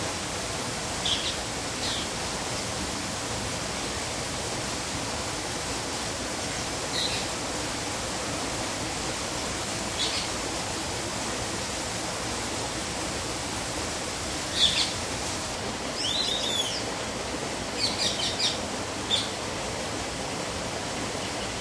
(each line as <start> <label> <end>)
0.0 waterfall 21.6
1.0 lovebird 2.1
10.0 lovebird 10.3
14.5 lovebird 15.0
16.0 lovebird 16.8
16.0 whistling ducks 16.8
17.8 lovebird 19.4